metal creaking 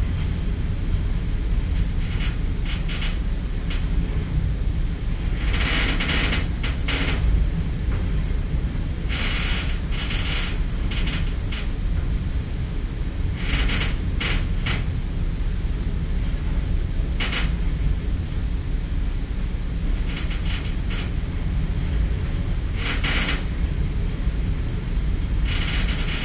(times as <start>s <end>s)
1.9s 3.9s, 5.3s 7.3s, 9.1s 11.8s, 13.4s 14.9s, 17.2s 17.6s, 20.0s 21.3s, 22.8s 23.6s, 25.4s 26.2s